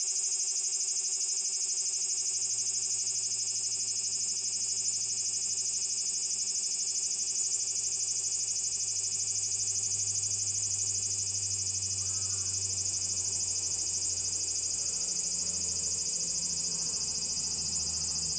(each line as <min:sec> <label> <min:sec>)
0:00.0 cicada's 'singing' process 0:18.3